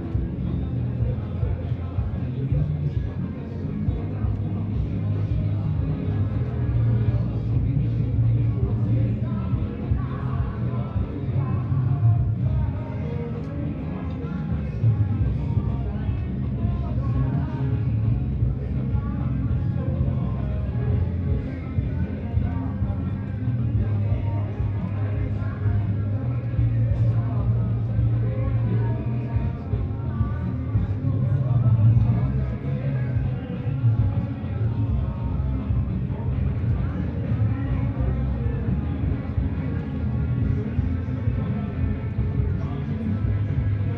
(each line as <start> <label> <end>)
0.0 multiple parties 43.9